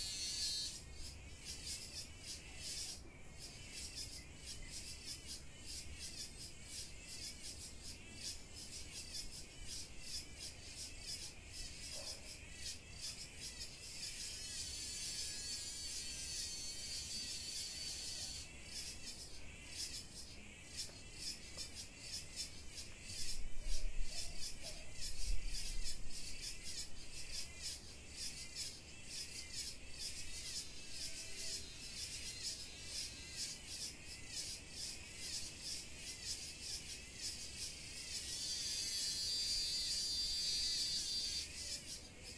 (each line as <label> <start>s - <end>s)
cicadas 0.0s - 42.3s